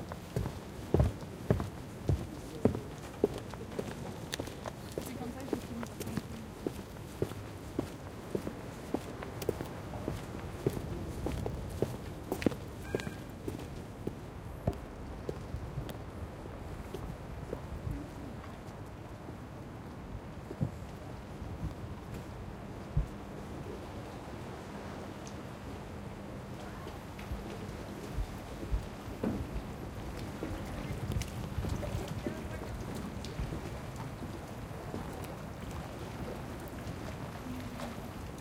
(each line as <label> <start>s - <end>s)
Clapotis de la mer sur le quai en pierre 29.6s - 38.4s